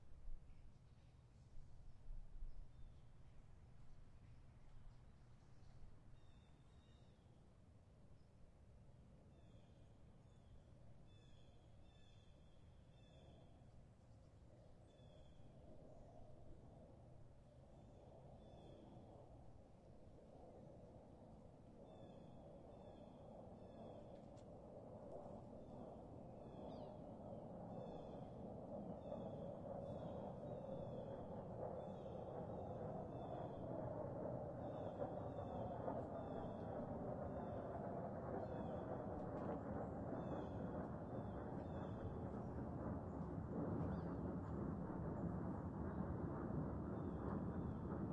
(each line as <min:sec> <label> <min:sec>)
0:13.0 PLANE PASS 0:48.1